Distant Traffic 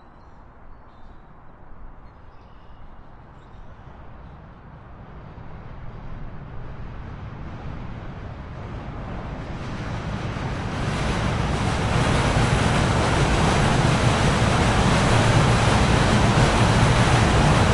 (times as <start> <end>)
4.0 17.7